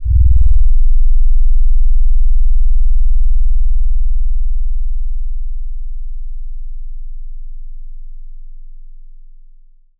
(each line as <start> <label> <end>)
0.0 Low frequency tones 3.0